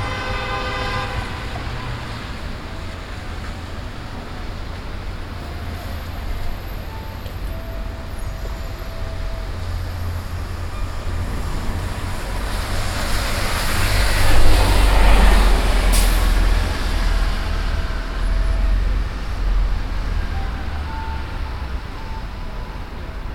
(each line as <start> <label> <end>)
0.0 Road traffic 23.3
1.3 Flute 11.5
15.9 Flute 23.3